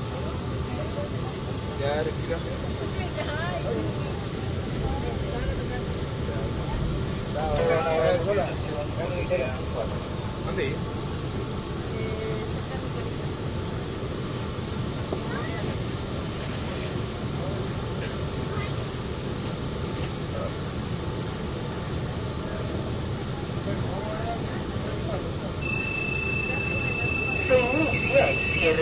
subway 0:00.0 - 0:28.8

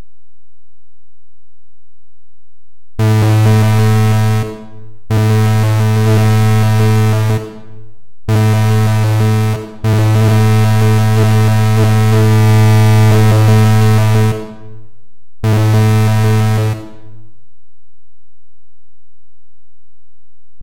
SYnth NoisesAM 0:03.0 - 0:17.3

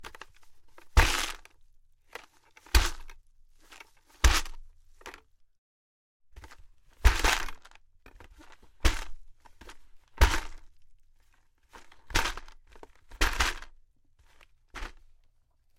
bucket of ice put down on carpet thud rattly 0:06.4 - 0:10.7

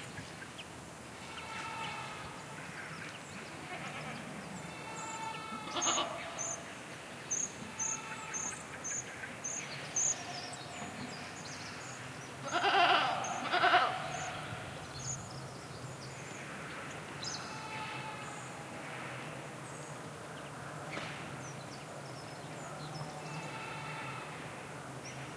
goats bleating at some distance inside a reverberant canyon 0:01.1 - 0:15.2
goats bleating at some distance inside a reverberant canyon 0:16.3 - 0:19.4
goats bleating at some distance inside a reverberant canyon 0:22.5 - 0:25.2

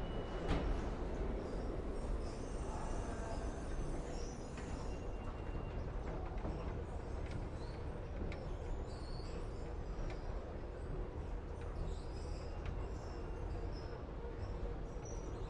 Train Doors Open 0:00.0 - 0:06.9
Turnstile Entrance 0:00.0 - 0:14.8
train 0:00.0 - 0:15.4

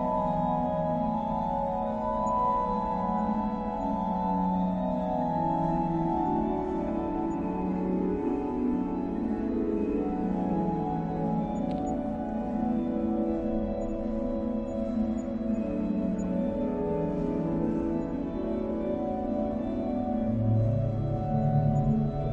Church organ 0:00.0 - 0:22.3

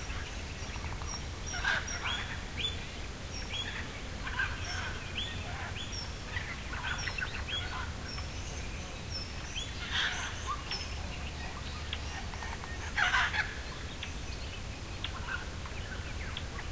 dawn chorus 0:00.0 - 0:16.7

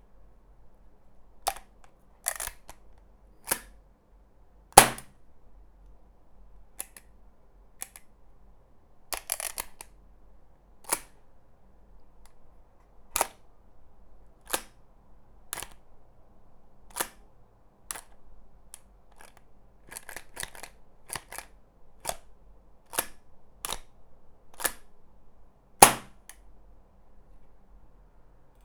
dryfiring and fiddling with an airgun 0:01.5 - 0:03.8
dryfiring and fiddling with an airgun 0:04.8 - 0:05.2
dryfiring and fiddling with an airgun 0:22.9 - 0:23.9
dryfiring and fiddling with an airgun 0:24.5 - 0:24.9
dryfiring and fiddling with an airgun 0:25.8 - 0:26.4

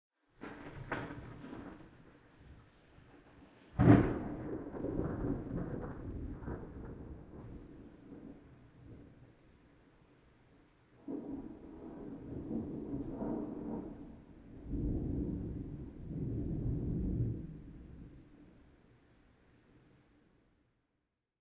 distant thunder strike 0:03.8 - 0:08.4
distant thunder strike 0:11.0 - 0:18.2

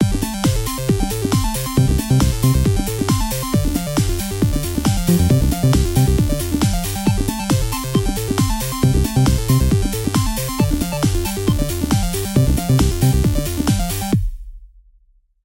synth 0:04.6 - 0:07.3

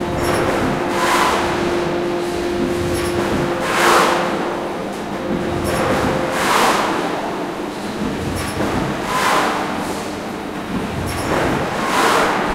Big machines 0:00.0 - 0:12.5

